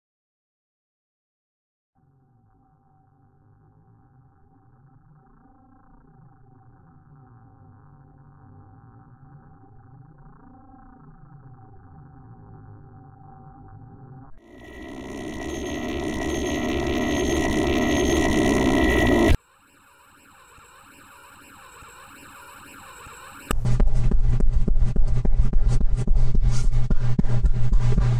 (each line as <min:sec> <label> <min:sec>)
0:14.4 burnng space ship 0:23.5